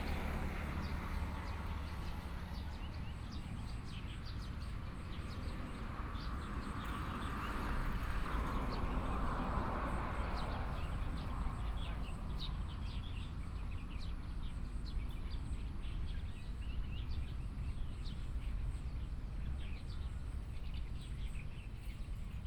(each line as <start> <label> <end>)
0.0 Traffic Sound 22.4
10.2 Birds 22.4